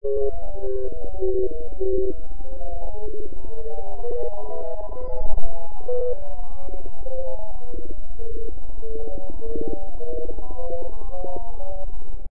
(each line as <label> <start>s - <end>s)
electronic beeping dely 0.0s - 11.9s